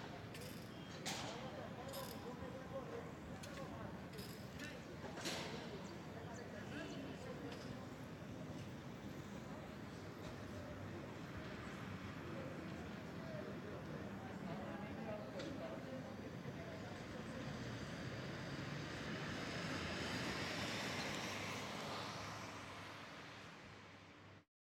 0.3s people 18.0s
15.4s cars 24.4s

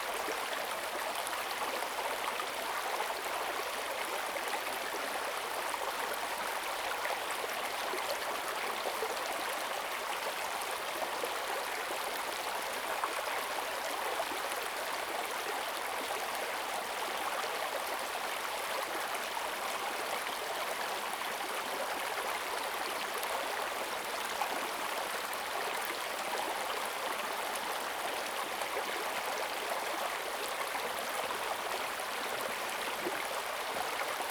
0.0s Small streams 34.3s

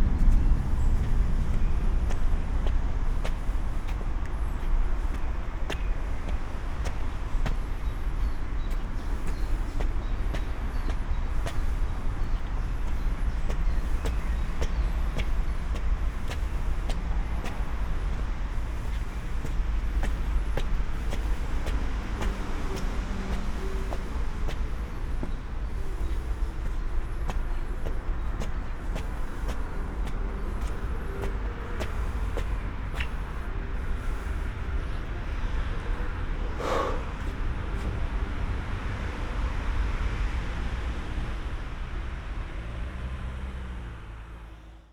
0.0s climbing up the steep stairs 35.1s

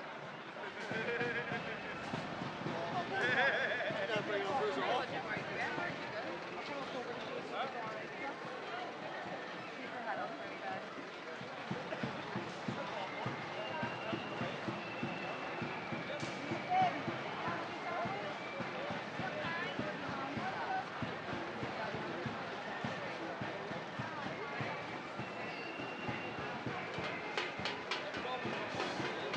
0.0s flutes 7.0s
0.0s chatter 29.3s
0.0s drums 29.3s
0.0s marching 29.3s
0.0s vehicles 29.3s
8.4s flutes 29.3s
11.7s whistles 20.7s
23.7s whistles 29.3s

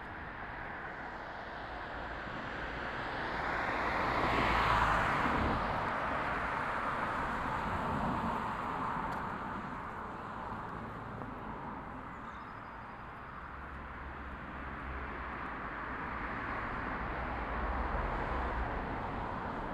0.0s other pedestrians 19.7s
0.0s traffic noise on the street 19.7s
11.3s lots of birds 13.9s

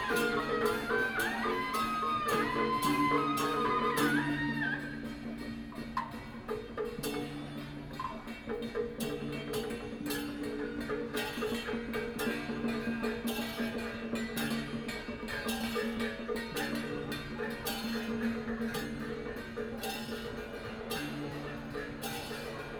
0.0s Nanguan 22.7s

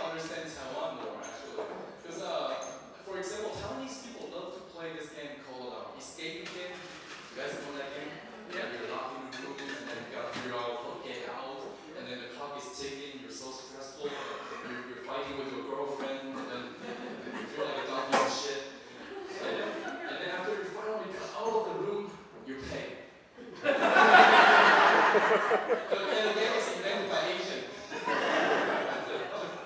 0.0s audience eats and drinks 4.0s
14.0s Stand-up Comedy 21.4s
16.0s audience eats and drinks 29.6s
23.4s Stand-up Comedy 29.6s

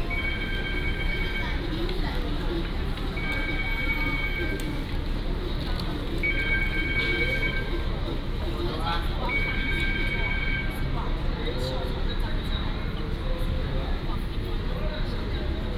0.0s Station broadcasting 8.2s
9.2s Station broadcasting 10.9s

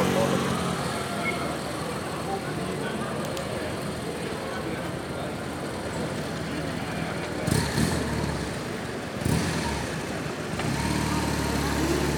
0.0s police vehicles leaving the demonstrations site 12.1s

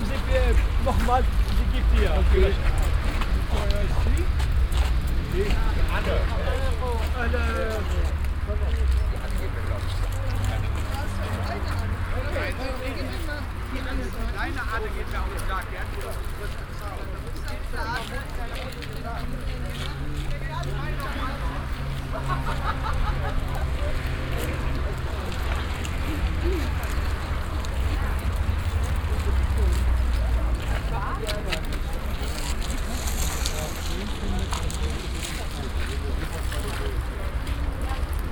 0.0s people 38.3s

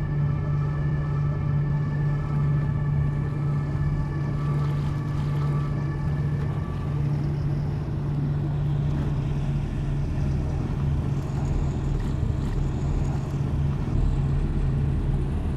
0.0s Waves of the Seine 15.5s
4.7s tourist cruisers 15.5s

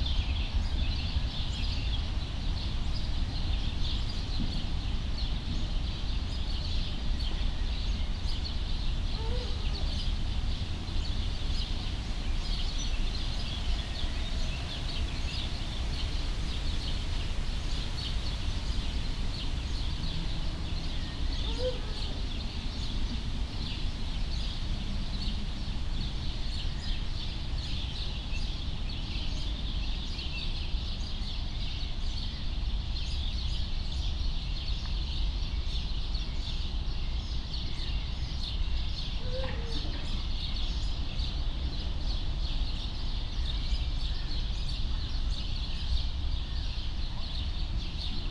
5.9s sad voices of caged birds 31.5s
36.4s sad voices of caged birds 48.3s

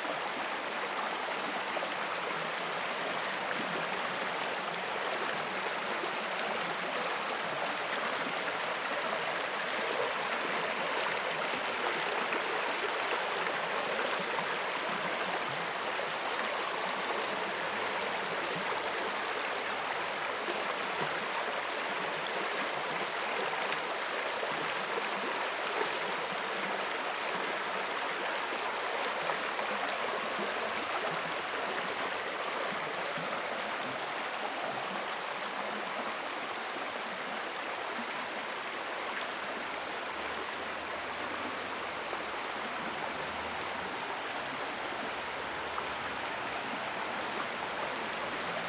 0.0s river 48.6s

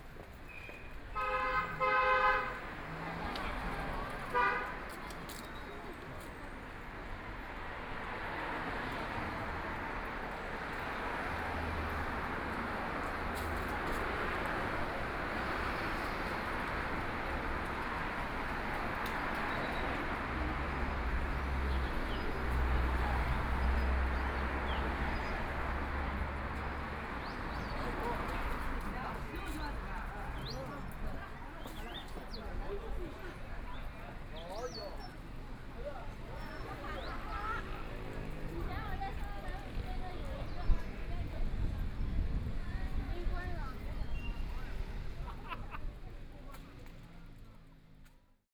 0.0s Traffic Sound 48.4s
0.0s Walking on the street 48.5s

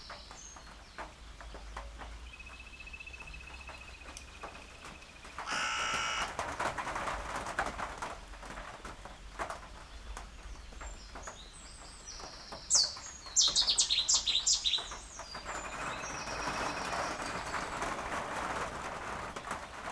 0.0s rain falling on an open sided bird hide 19.9s
5.4s crow 6.4s
5.5s coot 6.3s
5.5s Canada geese 6.4s
5.5s greylag geese 6.4s
10.9s reed warbler 17.8s

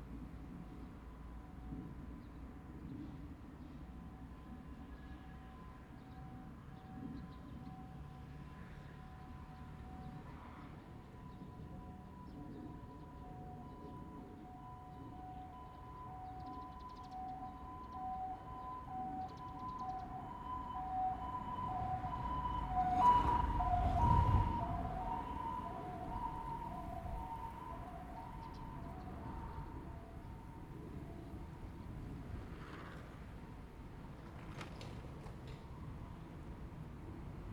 14.4s The train runs through 37.5s

